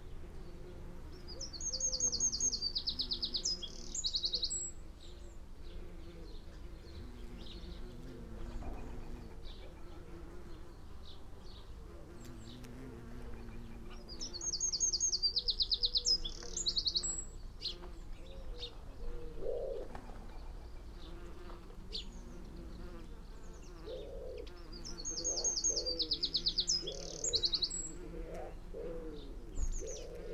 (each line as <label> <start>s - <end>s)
bees on lavender 0.0s - 30.3s
wood pigeon 5.8s - 10.7s
blackbird 11.5s - 30.3s
collared dove 17.6s - 30.3s
wood pigeon 17.7s - 30.3s
blue tit 21.0s - 30.3s